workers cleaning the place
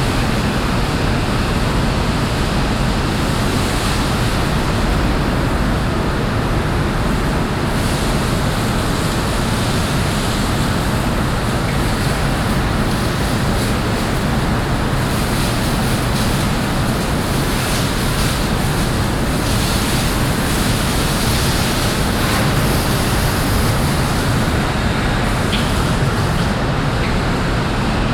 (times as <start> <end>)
7.7 27.3